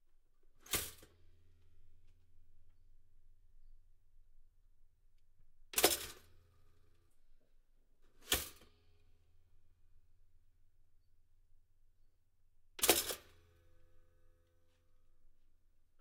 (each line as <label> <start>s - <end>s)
Toaster 0.6s - 1.0s
Toaster 5.8s - 6.3s
Toaster 8.2s - 8.6s
Toaster 12.8s - 13.3s